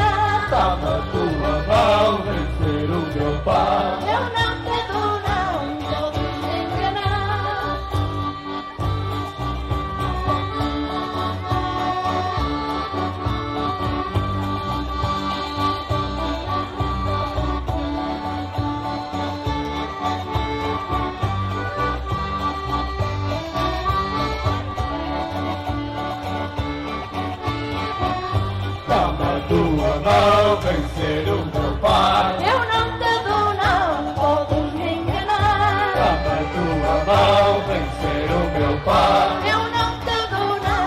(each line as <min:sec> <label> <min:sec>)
0:00.0 Folk band family 0:40.8